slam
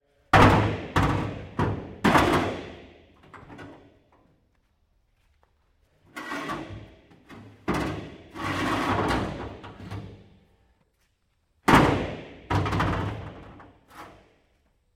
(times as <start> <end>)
0.4 2.8, 11.7 13.4